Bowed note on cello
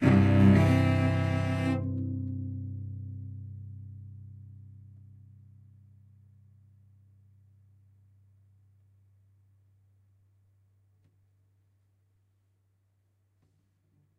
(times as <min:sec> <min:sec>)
0:00.0 0:04.5